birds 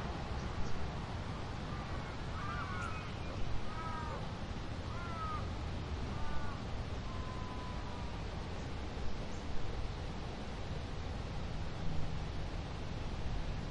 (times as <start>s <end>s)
1.6s 5.5s, 6.1s 9.5s